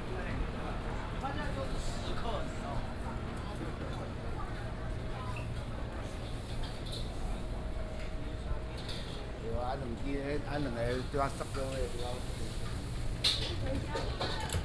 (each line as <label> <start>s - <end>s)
Walking in a small alley 0.0s - 14.6s